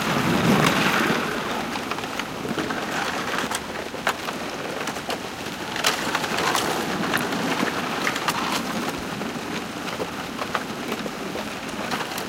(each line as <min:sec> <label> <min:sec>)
0:00.0 Ice floe breaking as it hits the shore 0:09.7